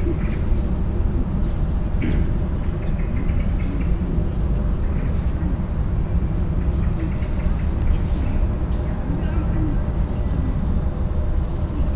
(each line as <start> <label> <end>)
9.0 voices in the garden 10.7